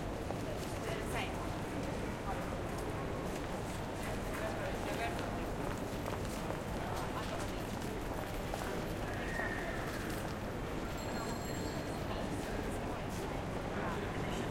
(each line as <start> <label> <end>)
0.0 crowd 14.5
0.0 trains 14.5